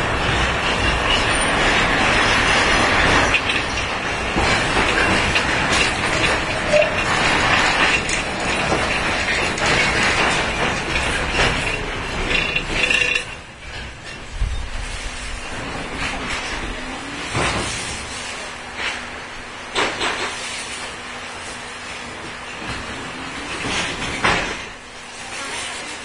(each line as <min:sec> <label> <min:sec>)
0:00.0 tramway 0:26.0